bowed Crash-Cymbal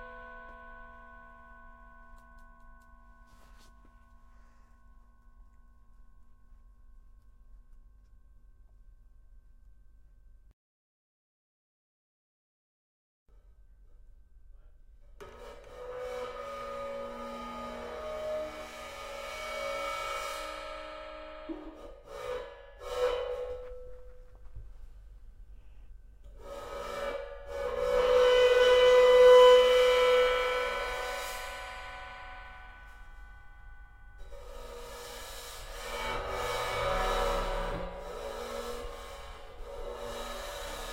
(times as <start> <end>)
30.0 40.9